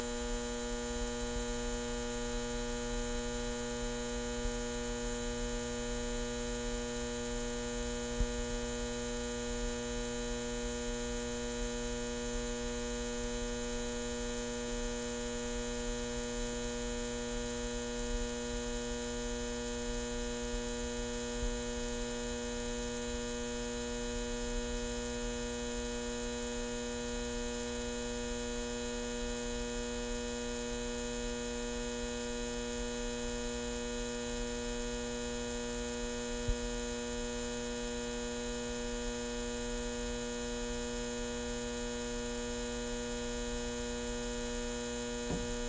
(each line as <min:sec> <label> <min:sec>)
0:00.0 neon sign buzz hum 0:45.6